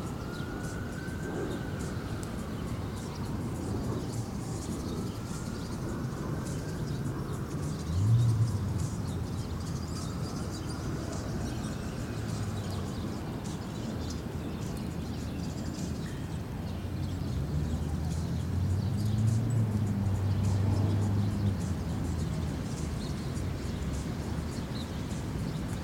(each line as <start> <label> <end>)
0.0 ambulance siren 12.9
0.0 birds singing 25.8
0.0 light wind 25.8
0.0 planes flying by 25.8